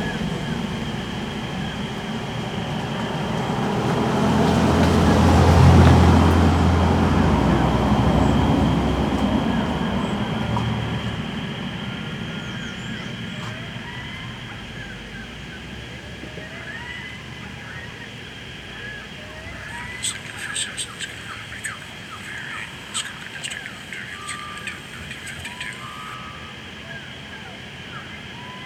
birdsongs 0.0 - 28.6
Gunn can be heard introducing a recording 19.4 - 26.4

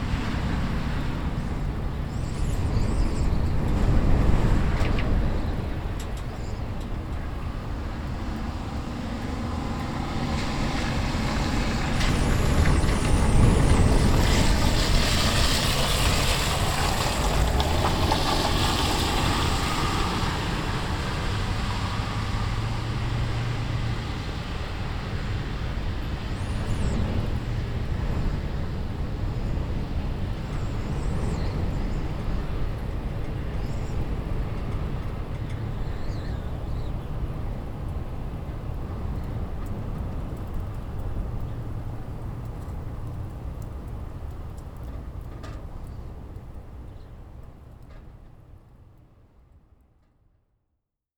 Windy night at bus stop 0.0 - 49.4

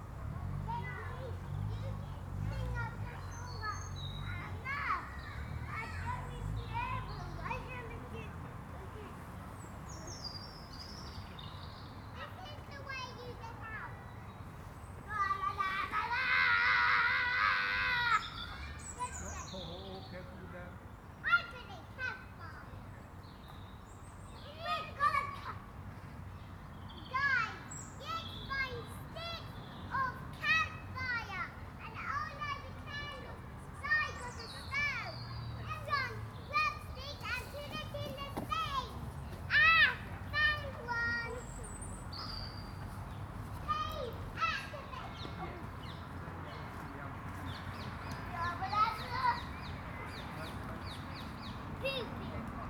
kids playing 0.0 - 20.0
kids playing 20.8 - 52.6

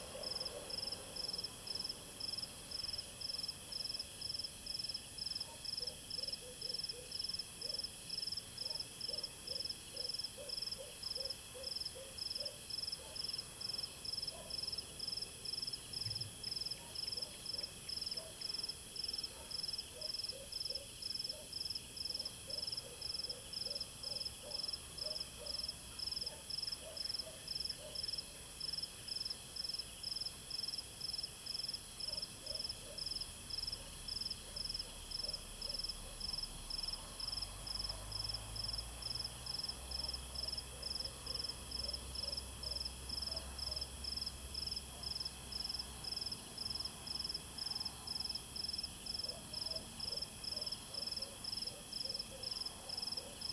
Dog barking 0.0 - 1.0
Insect noise 0.0 - 53.5
Dog barking 5.4 - 7.8
Dog barking 8.6 - 13.4
Dog barking 14.3 - 14.7
Dog barking 16.7 - 18.4
Dog barking 19.3 - 28.3
Dog barking 32.1 - 33.1
Dog barking 33.7 - 36.4
Dog barking 40.0 - 43.9
Dog barking 49.2 - 53.5

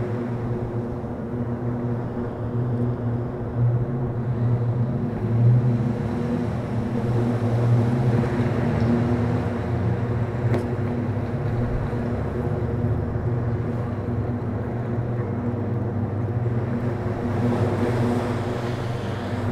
Sea waves 0.0 - 19.5

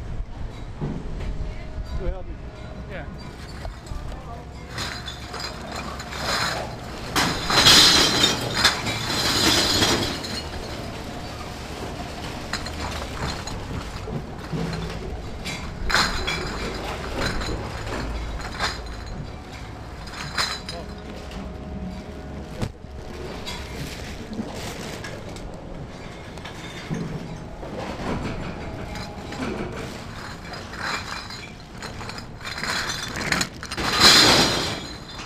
bottles return 2.7 - 35.2

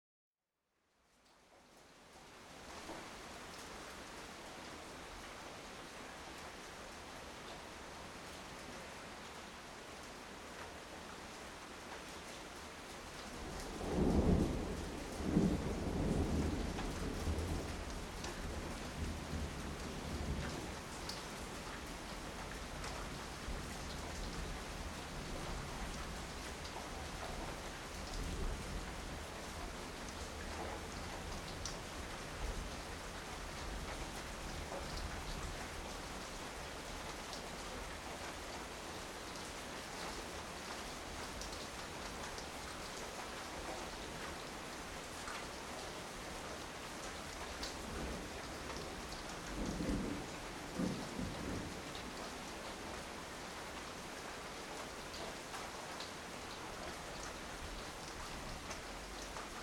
rain 0.8 - 59.6
thunder 13.7 - 20.6
thunder 49.5 - 51.9

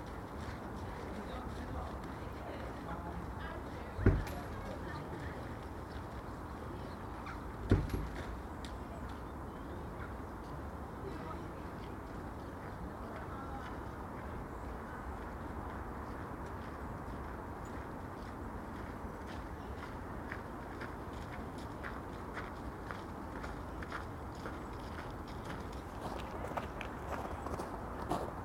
Passer-by chatter 0.0 - 18.4
Walking 0.0 - 28.4

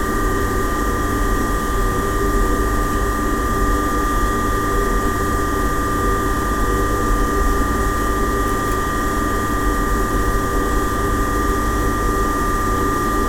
drone of the engine in the basement which powered 0.0 - 13.2

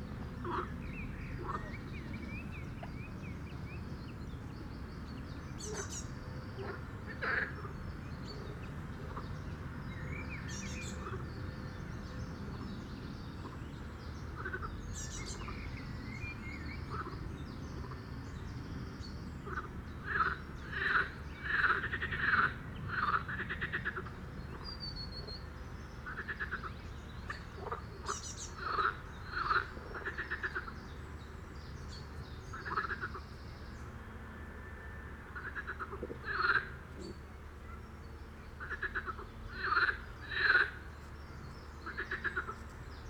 frogs 5.6 - 9.8
frogs 14.3 - 17.2
frogs 19.4 - 24.6
frogs 26.0 - 30.8
frogs 32.5 - 33.2
frogs 35.2 - 37.1
frogs 38.6 - 40.9
frogs 41.8 - 42.6

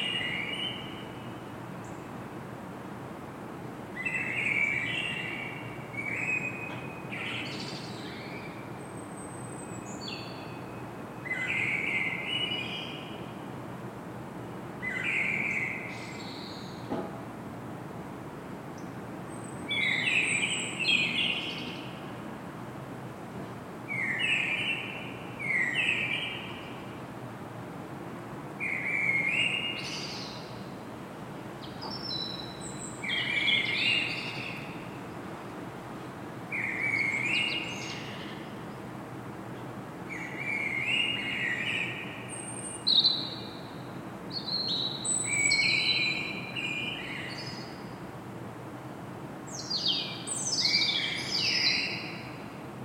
two blackbirds 4.0 - 13.5

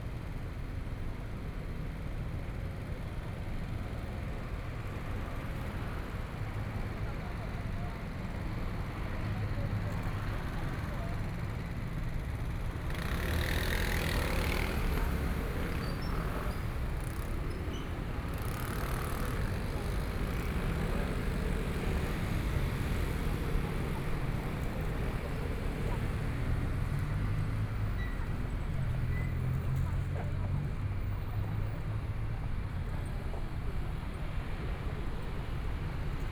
Various shops voices 7.0 - 36.3
Traffic Sound 8.8 - 36.3
Motorcycle sound 12.9 - 26.9

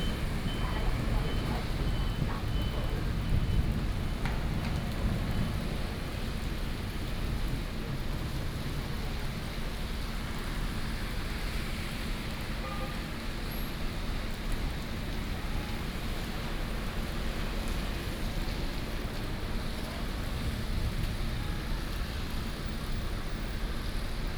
Thunderstorms 0.0 - 7.4

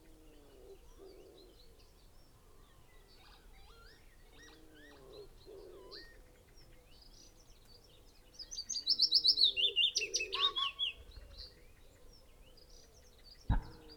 pheasant 0.0 - 13.9
blackbird 0.2 - 13.9
willow warbler song 6.9 - 13.9
crow 10.0 - 10.8
blackcap 13.5 - 13.9
wood pigeon 13.5 - 13.9
yellowhammer 13.5 - 13.9

